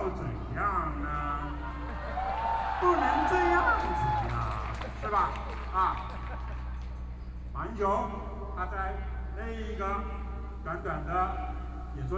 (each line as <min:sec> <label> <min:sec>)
0:00.0 Protest Speech 0:06.6